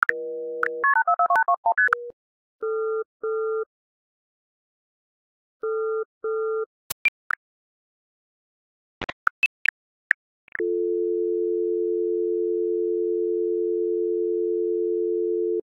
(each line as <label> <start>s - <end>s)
phone tones 10.6s - 15.6s